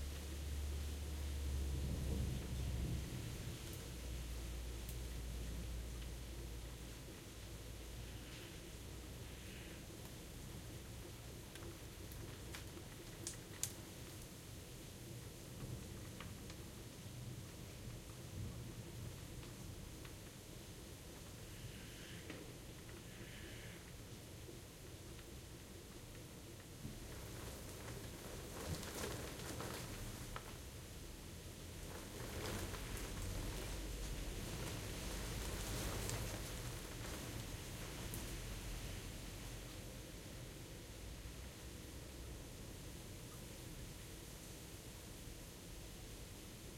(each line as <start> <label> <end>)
0.0 Rain 46.7
1.6 Thunder 3.6